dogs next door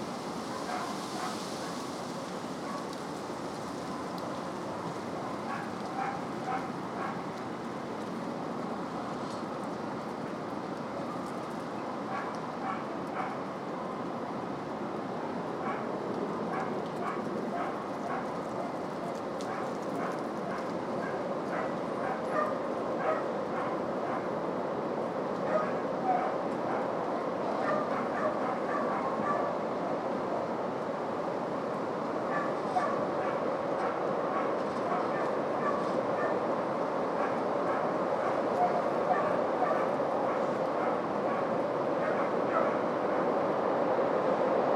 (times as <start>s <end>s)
5.5s 7.3s, 12.1s 13.4s, 16.5s 24.3s